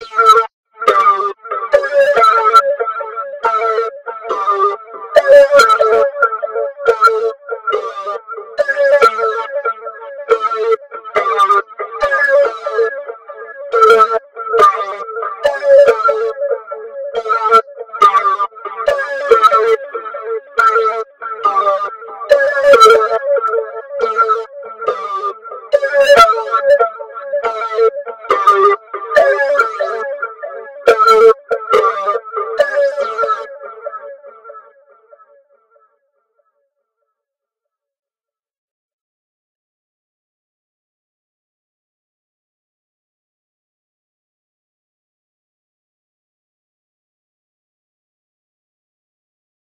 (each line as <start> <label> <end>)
0.0 vocoder 35.0